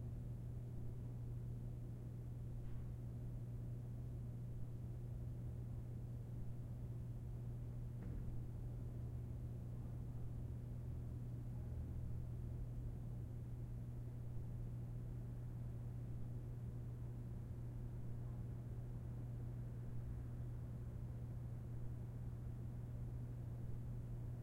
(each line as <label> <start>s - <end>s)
Room Tone Ambience Large Theatre Low Hum 0.0s - 24.4s